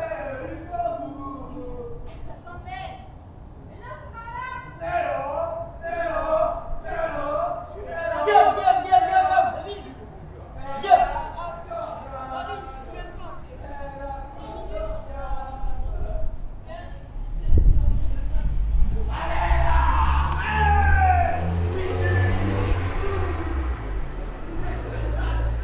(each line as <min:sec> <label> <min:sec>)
0:18.0 car passing by 0:25.6